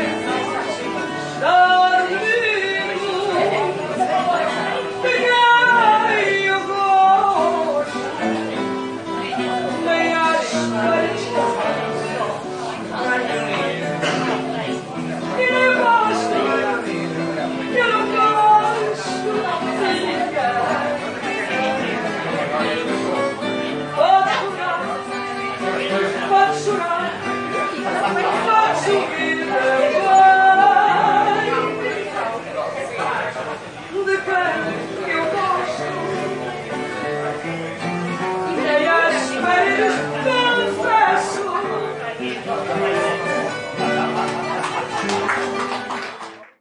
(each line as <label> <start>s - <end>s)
lady singing a traditional Portuguese song 0.0s - 8.0s
guitar 0.0s - 46.6s
people are chatting and eating 0.0s - 46.6s
lady singing a traditional Portuguese song 9.3s - 12.0s
lady singing a traditional Portuguese song 15.2s - 21.9s
lady singing a traditional Portuguese song 24.0s - 25.2s
lady singing a traditional Portuguese song 25.9s - 32.0s
lady singing a traditional Portuguese song 33.9s - 36.0s
lady singing a traditional Portuguese song 38.5s - 42.2s